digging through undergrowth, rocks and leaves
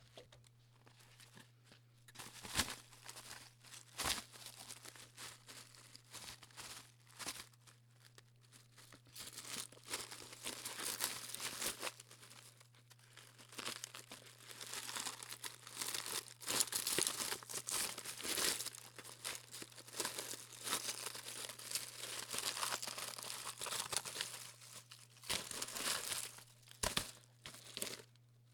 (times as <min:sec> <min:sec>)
0:13.5 0:28.1